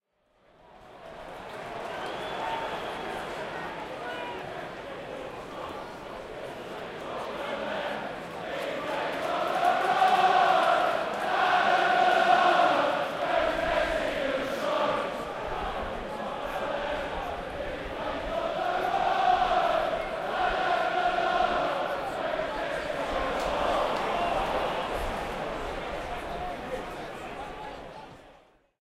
oohs and cheers 1.0 - 4.4
Crowd chanting 1.4 - 28.3

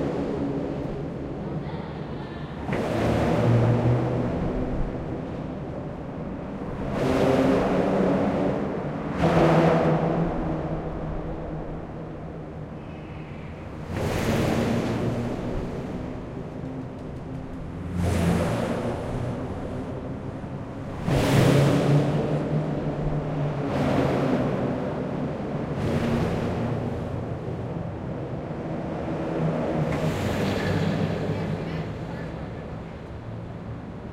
cars drive on it 0.0 - 34.1
trucks 0.0 - 34.1
people 1.3 - 2.9

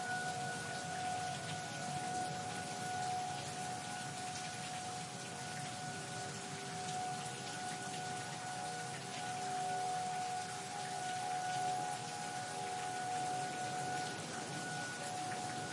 Tornado sirens 0.0 - 15.7
rain 0.0 - 15.7

